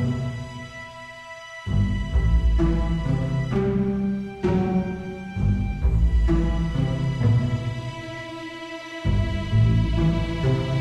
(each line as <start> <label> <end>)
0.0 Orchestra 10.8